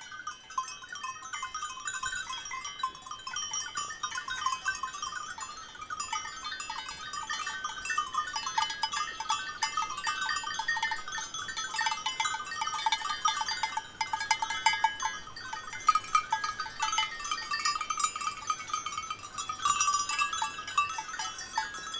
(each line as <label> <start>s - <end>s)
Goats and bells 0.0s - 21.9s